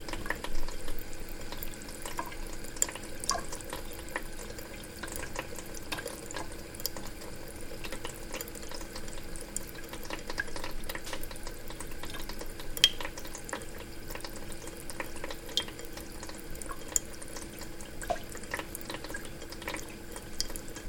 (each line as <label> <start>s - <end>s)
Running water out of a bathroom faucet 0.0s - 20.8s